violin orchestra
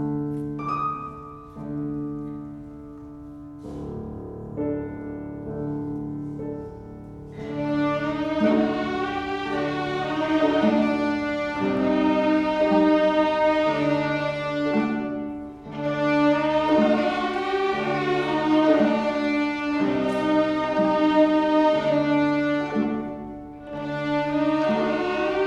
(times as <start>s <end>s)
5.8s 25.4s